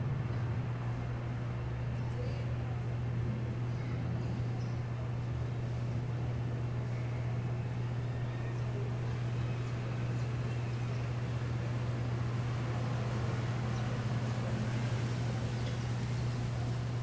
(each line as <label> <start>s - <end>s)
noise of the city 0.0s - 17.0s